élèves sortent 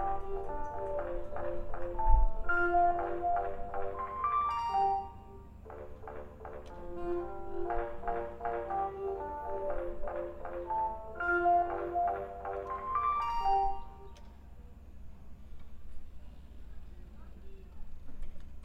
0.0 14.2

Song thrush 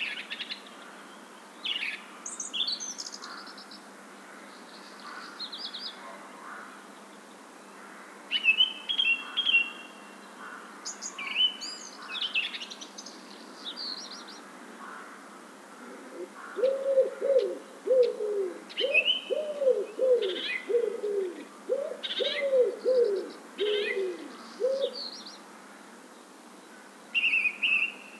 8.3 14.5, 16.1 25.5, 26.1 28.1

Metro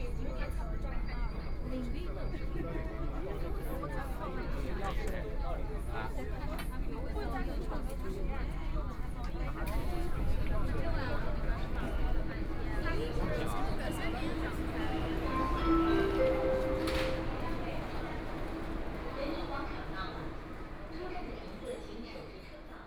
14.4 20.2

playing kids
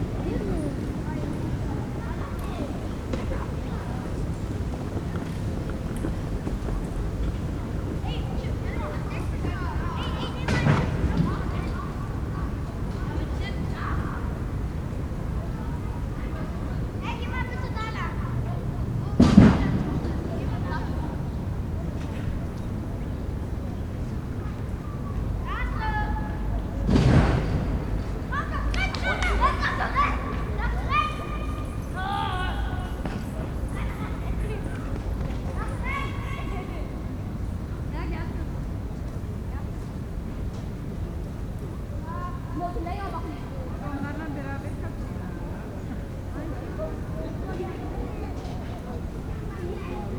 0.0 11.5

